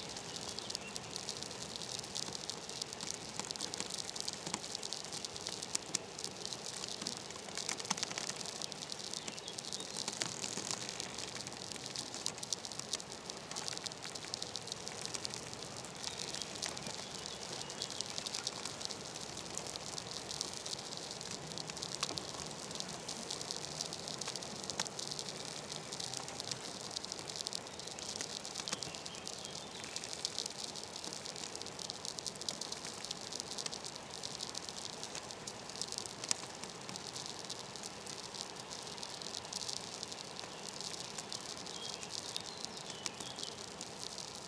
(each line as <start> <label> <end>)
0.0 bush creaking in a wind 44.4